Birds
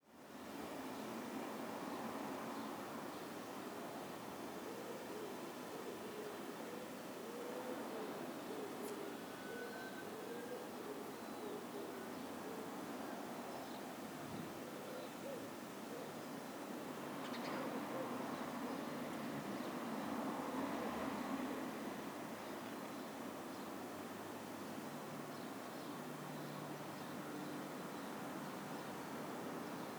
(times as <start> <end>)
7.3 20.3